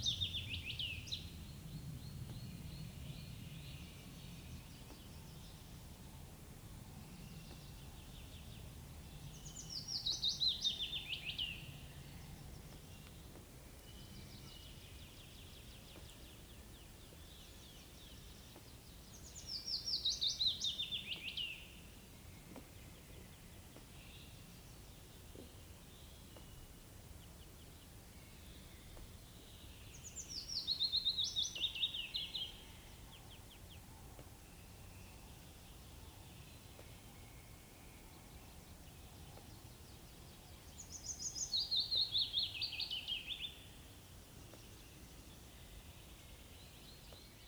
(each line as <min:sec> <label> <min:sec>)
0:07.2 Willow warbler 0:47.4